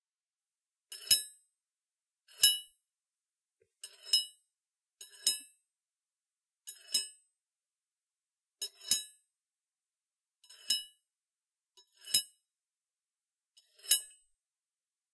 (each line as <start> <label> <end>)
3.8 Sliding a metal thing across a file 4.3
11.8 Sliding a metal thing across a file 12.4
13.6 Sliding a metal thing across a file 14.2